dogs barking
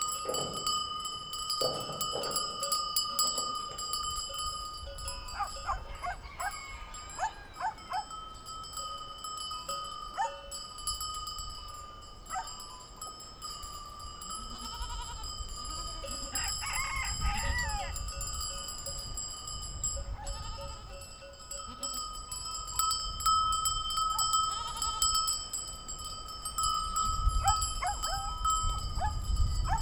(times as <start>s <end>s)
0.2s 0.7s, 1.6s 2.6s, 5.3s 8.2s, 10.2s 10.4s, 12.3s 12.6s, 27.4s 29.8s